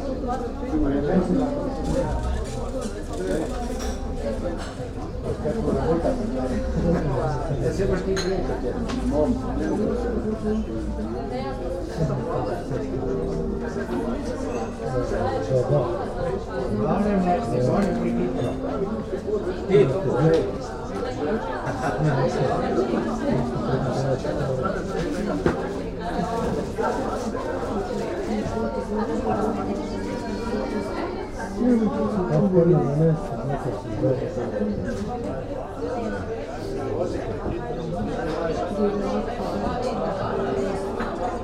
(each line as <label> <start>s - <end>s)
busy cafe terrace 0.0s - 41.4s